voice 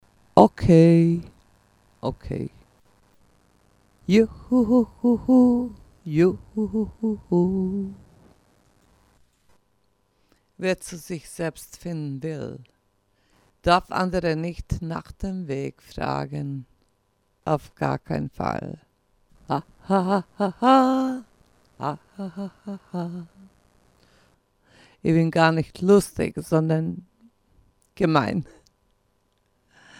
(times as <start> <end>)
0.4 1.3, 2.0 2.6, 4.1 8.0, 10.6 12.7, 13.7 16.7, 17.5 18.8, 19.5 21.2, 21.8 23.3, 25.0 27.1, 28.0 28.6